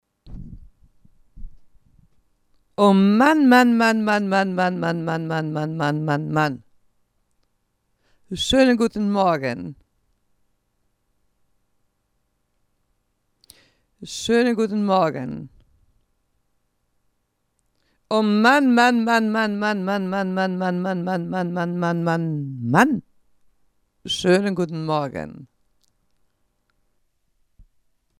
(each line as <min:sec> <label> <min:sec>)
0:02.8 voice 0:06.6
0:08.3 voice 0:09.8
0:14.0 voice 0:15.5
0:18.1 voice 0:23.0
0:24.1 voice 0:25.5